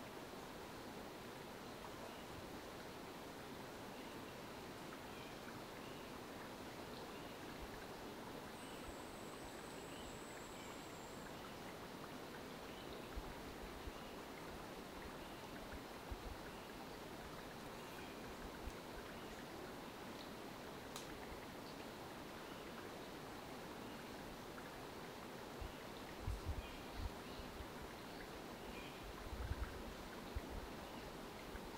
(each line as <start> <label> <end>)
0.0 river 31.7
0.0 wind 31.7
7.4 insects 14.3